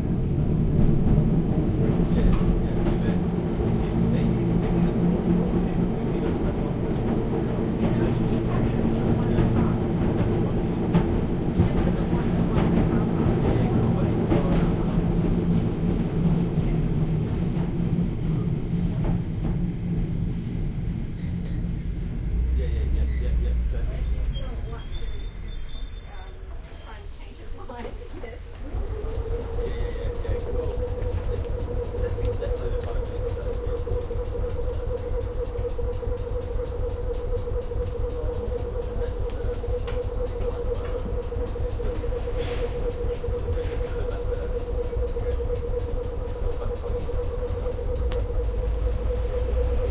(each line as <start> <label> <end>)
0.0 W-class tram 49.9
1.0 people speaking 19.2
20.8 road noise 49.9
22.4 people speaking 49.9
28.8 compressor pump 49.9